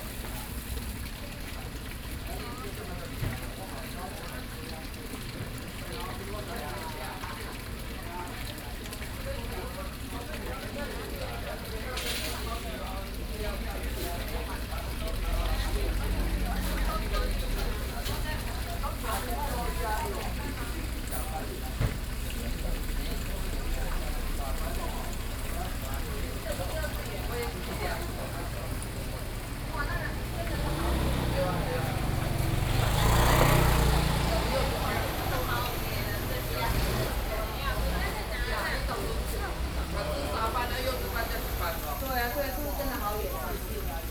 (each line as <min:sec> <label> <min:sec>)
0:00.0 Walking in a small alley 0:44.1